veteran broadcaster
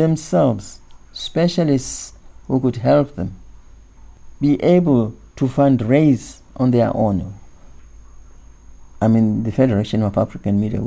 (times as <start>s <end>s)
0.0s 3.6s, 4.4s 7.6s, 9.0s 10.8s